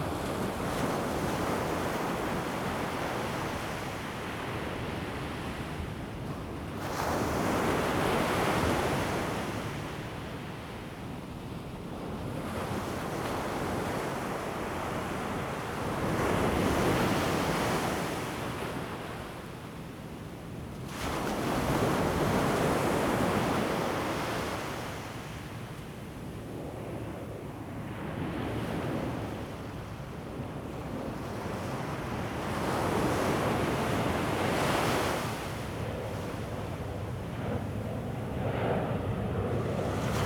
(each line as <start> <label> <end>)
28.0 waves 40.2
35.7 aircraft flying 40.2